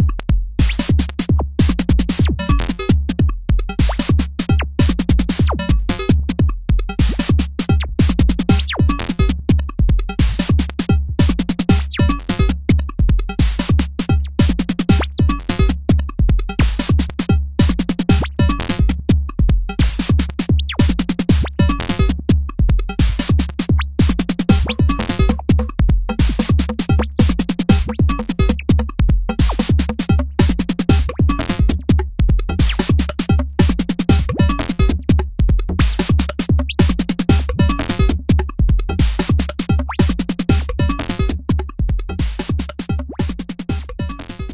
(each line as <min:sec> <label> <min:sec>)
0:00.0 drums 0:44.5